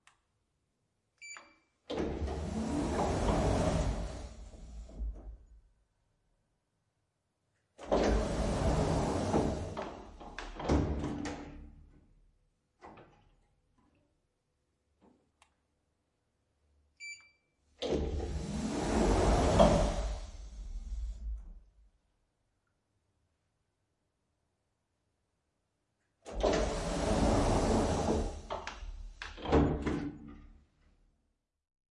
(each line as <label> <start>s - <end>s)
elevator doors open close 1.2s - 5.6s
elevator doors open close 7.8s - 11.9s
elevator doors open close 17.8s - 21.7s
elevator doors open close 26.3s - 30.6s